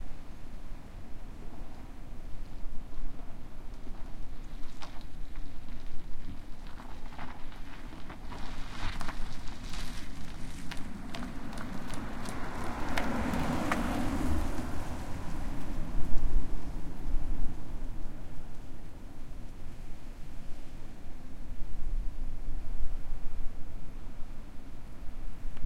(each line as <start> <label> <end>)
2.4 gravel stuck in one tire 21.2